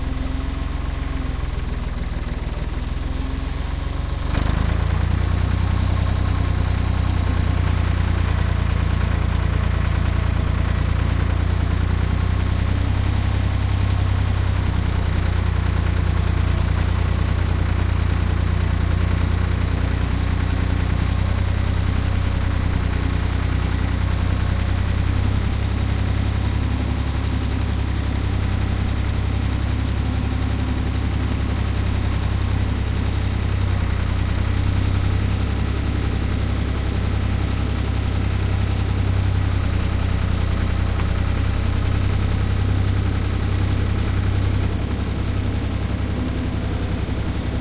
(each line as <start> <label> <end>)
0.0 Diesel Tractor Driving 47.6